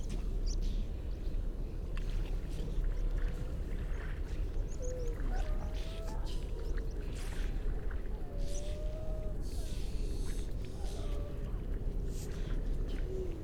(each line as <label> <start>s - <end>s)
grey seals 4.6s - 13.4s